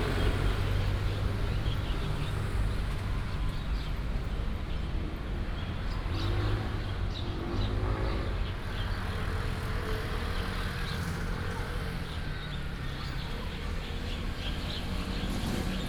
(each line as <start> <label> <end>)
0.0 Traffic sound 15.8